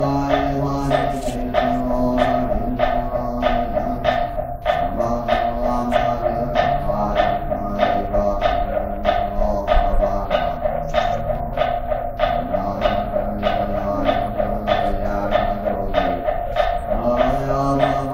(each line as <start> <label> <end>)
0.0 Buddhist monk chanting 18.1